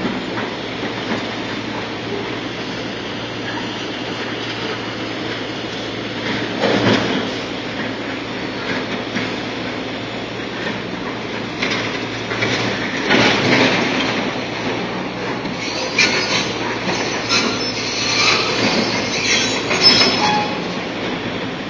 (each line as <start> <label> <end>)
0.0 machines 21.6